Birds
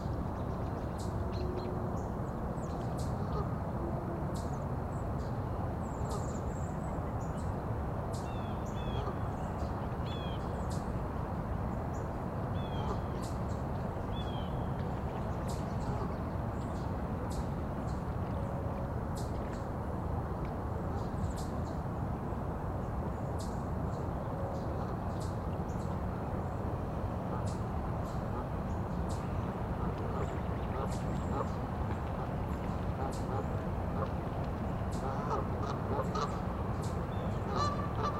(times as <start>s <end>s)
22.8s 38.1s